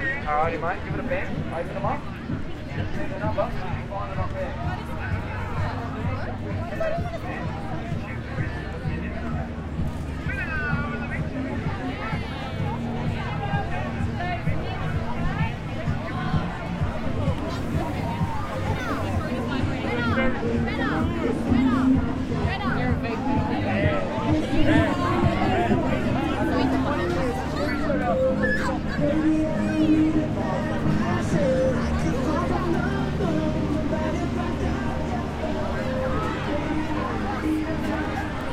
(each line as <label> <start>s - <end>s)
crowd 0.0s - 38.5s
conversation 17.3s - 28.6s